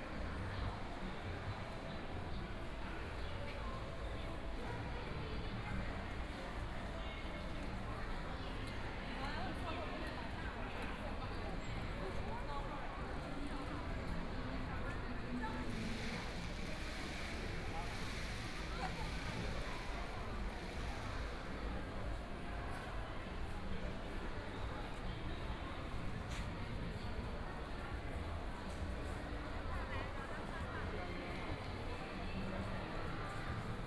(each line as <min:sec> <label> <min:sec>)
0:00.0 Various shops voices 0:33.8
0:10.9 Walking through the bazaar 0:33.8